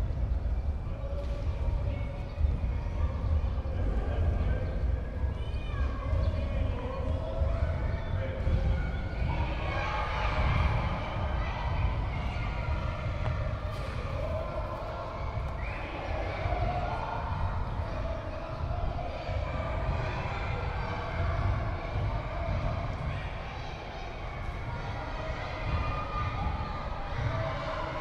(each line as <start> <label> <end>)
0.0 kids playing inside the gym 28.0